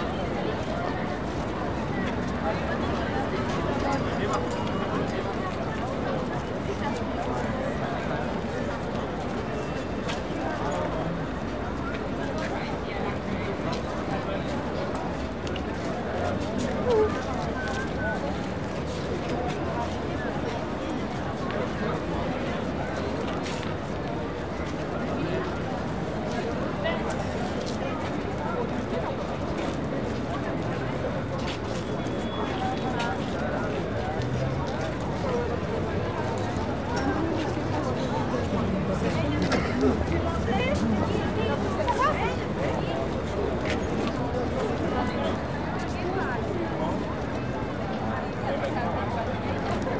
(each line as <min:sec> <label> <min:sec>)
0:00.0 international crowd waiting at the lifts 0:49.9